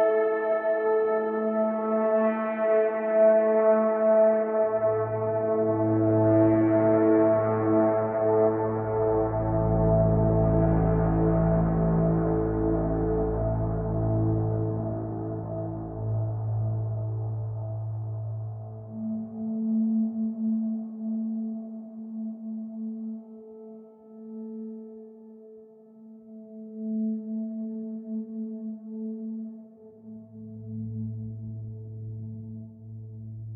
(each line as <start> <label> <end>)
0.0 Ambient synth 33.5